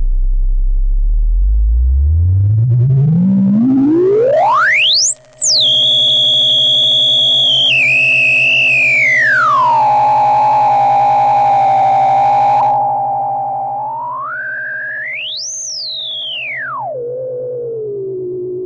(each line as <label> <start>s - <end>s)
Oscillators 1.2s - 18.6s